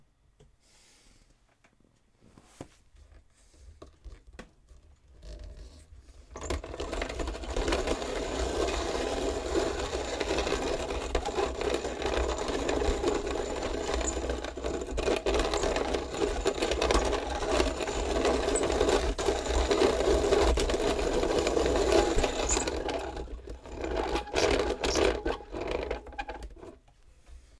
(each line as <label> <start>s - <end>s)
handmill 6.4s - 26.8s